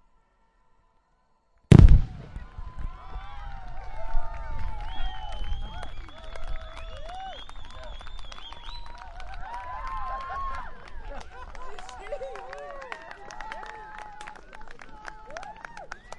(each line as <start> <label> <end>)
0.0 crowd 16.1
1.7 fireworks display 4.3